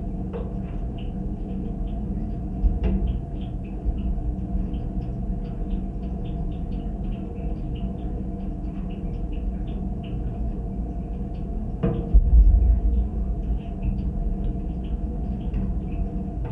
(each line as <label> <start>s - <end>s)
rain pipe vibrations 1.8s - 16.5s